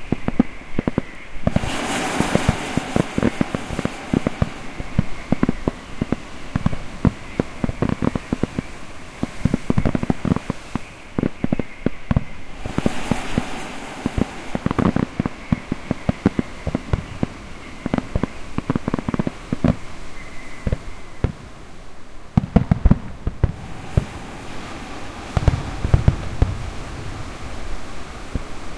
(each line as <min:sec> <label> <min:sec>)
0:00.0 Fireworks 0:28.7